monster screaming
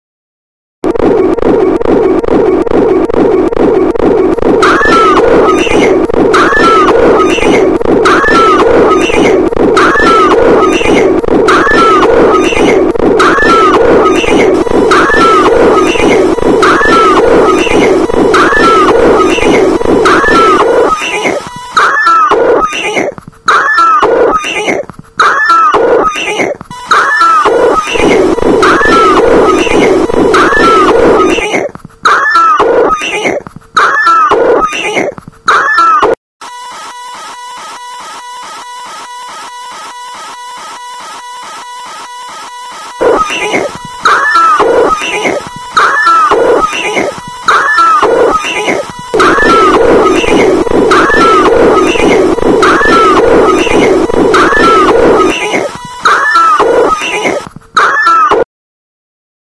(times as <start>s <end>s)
4.6s 22.9s, 26.9s 31.4s, 43.1s 58.4s